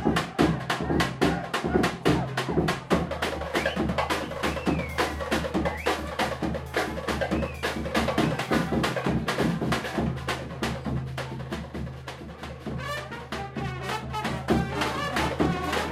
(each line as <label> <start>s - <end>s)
brass 12.3s - 15.9s